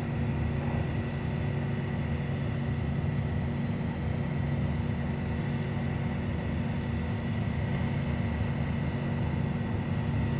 ferry, charging cars 0:00.0 - 0:10.3

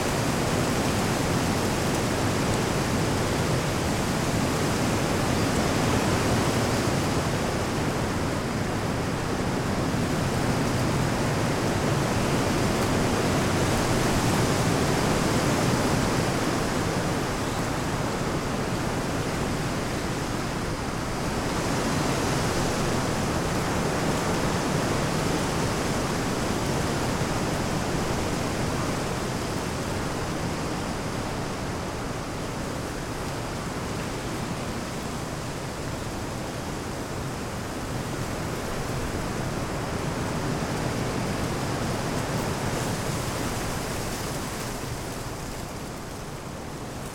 Heavy wind into trees branchs 0:00.0 - 0:47.1

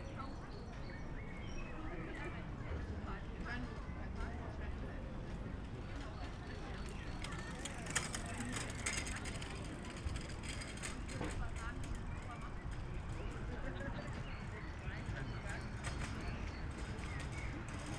people gathering in a Biergarten pub 0:00.0 - 0:17.9
many cyclists passing by 0:00.0 - 0:17.9

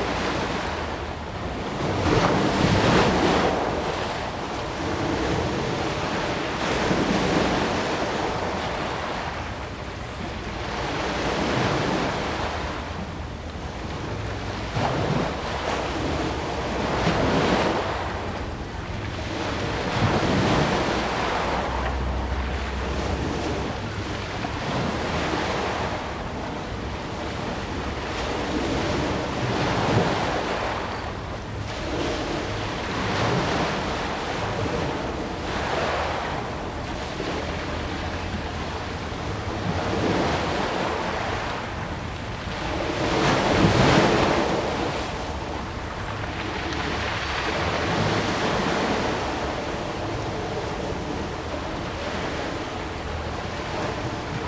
river 0:00.0 - 0:54.4

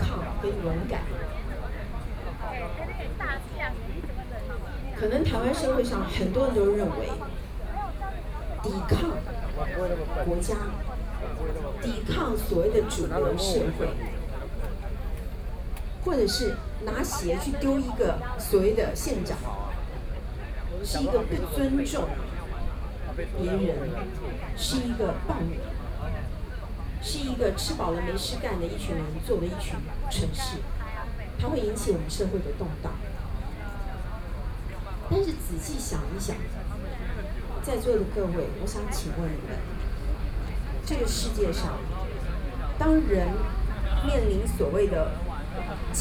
Speech 0:00.0 - 0:46.0

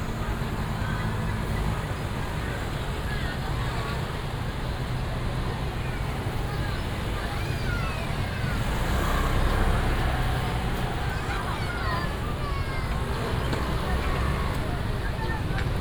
Many motorcycles 0:00.0 - 0:15.8
Traffic sound 0:00.0 - 0:15.8
Walking in the traditional market 0:00.0 - 0:15.8

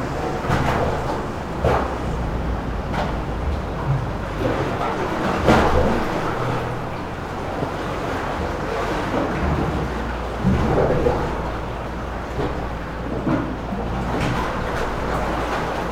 waves under the pier 0:00.0 - 0:15.9

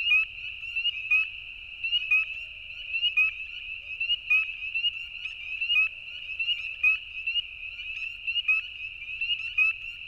coyotes can be heard in the distance 0:00.0 - 0:10.0
spring peepers in ditch beside the road 0:00.0 - 0:10.0

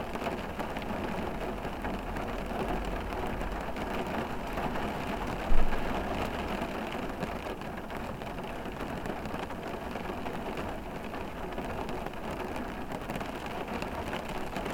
Rain on the car roof 0:00.0 - 0:14.7

